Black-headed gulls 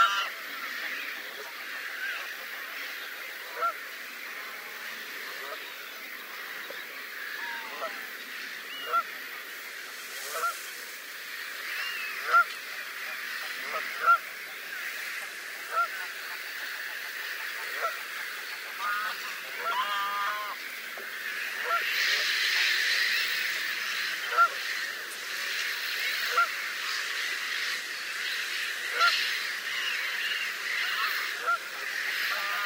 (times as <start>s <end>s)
0.0s 3.8s, 4.4s 9.1s, 11.6s 20.6s, 26.0s 32.6s